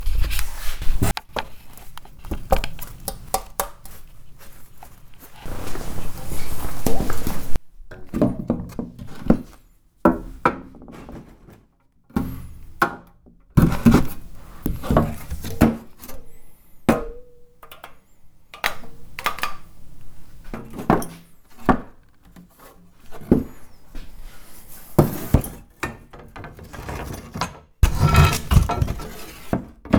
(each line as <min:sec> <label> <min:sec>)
0:00.0 scrapes 0:03.0
0:03.9 scrapes 0:07.6
0:13.7 scrapes 0:17.6
0:18.6 clicks 0:20.5
0:18.6 scrapes 0:24.8
0:27.8 scrapes 0:29.6